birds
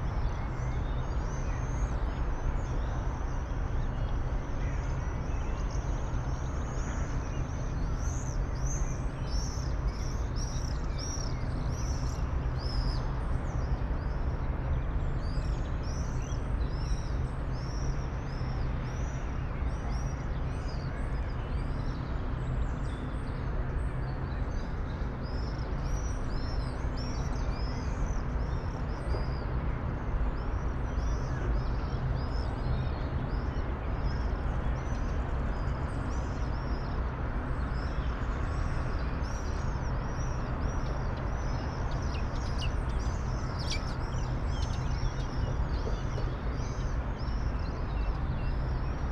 0:24.2 0:49.1

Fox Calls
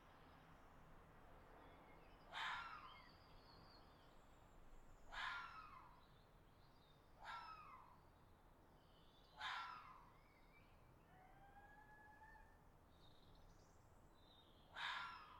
0:05.1 0:05.8, 0:09.4 0:10.0, 0:14.8 0:15.3

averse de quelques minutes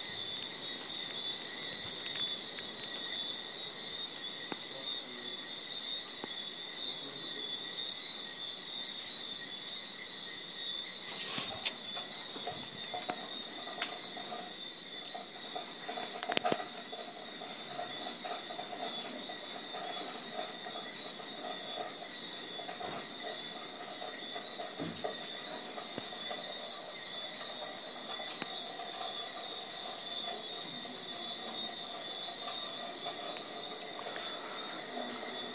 0:22.6 0:35.5

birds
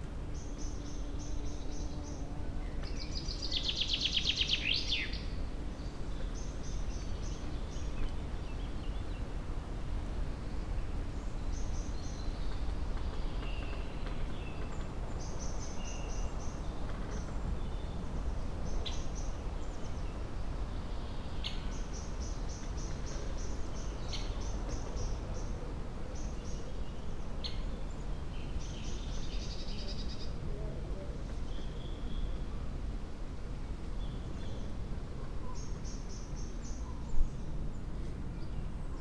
0:10.4 0:32.7

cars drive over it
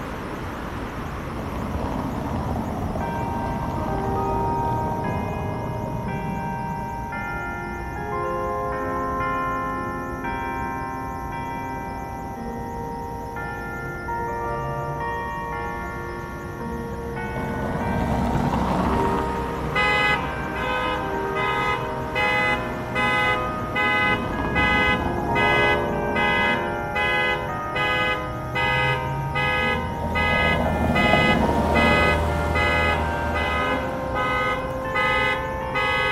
0:00.0 0:07.1, 0:16.8 0:36.1

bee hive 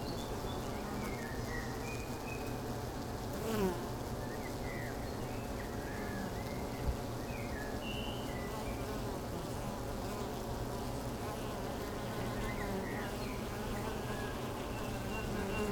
0:00.0 0:04.2, 0:08.5 0:15.7

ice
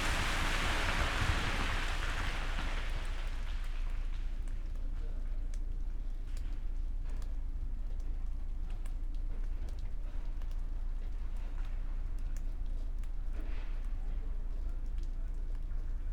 0:00.0 0:04.2

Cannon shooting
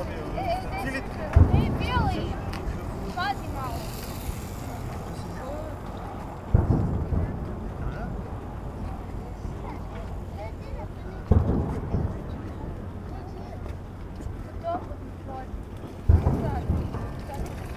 0:06.5 0:10.0, 0:16.1 0:17.7

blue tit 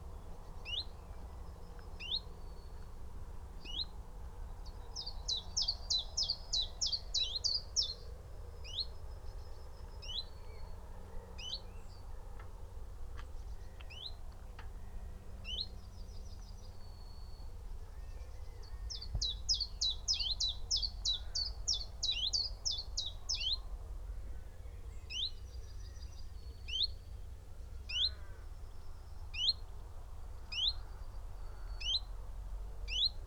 0:05.0 0:08.0, 0:18.6 0:23.6, 0:30.5 0:30.9, 0:32.9 0:33.2

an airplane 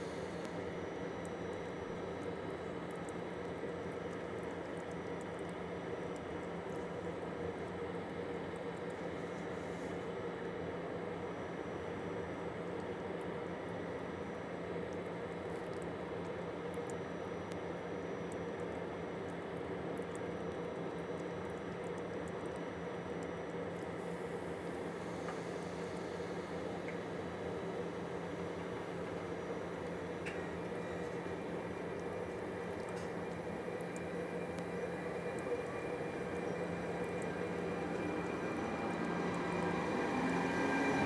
0:18.6 0:41.0

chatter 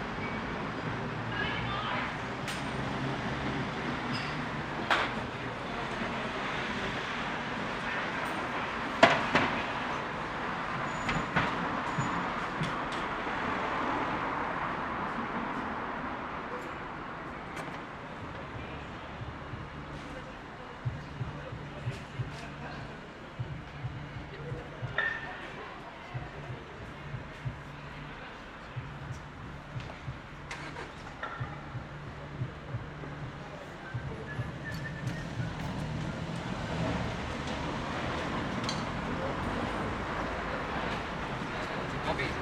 0:16.6 0:42.4

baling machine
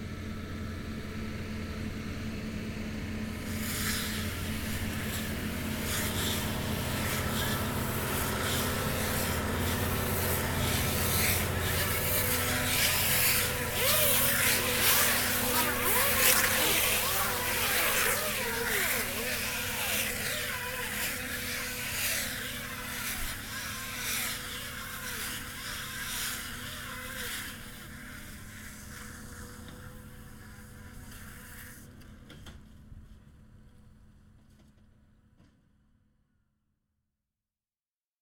0:03.3 0:28.9

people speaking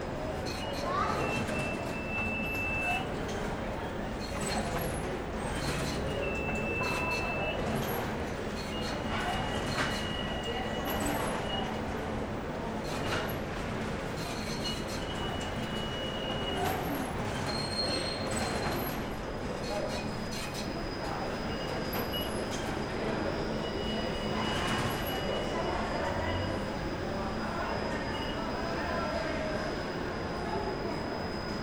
0:22.7 0:31.3

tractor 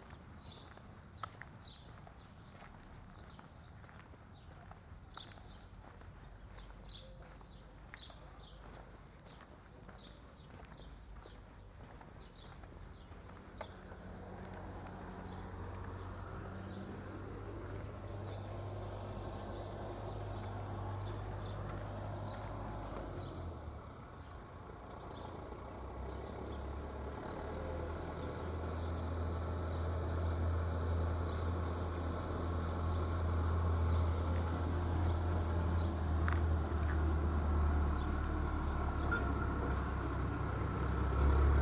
0:13.8 0:41.6

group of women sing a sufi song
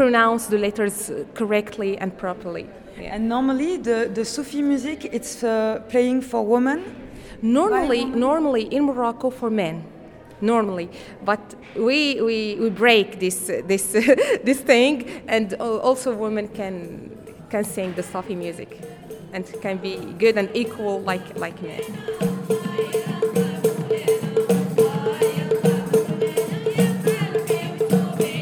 0:17.3 0:28.4

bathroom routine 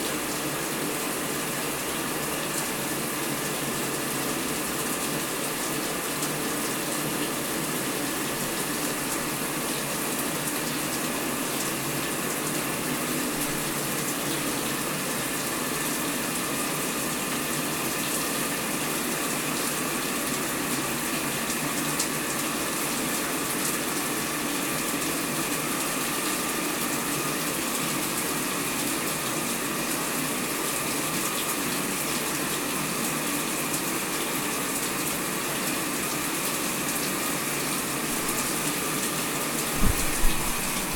0:37.8 0:40.9

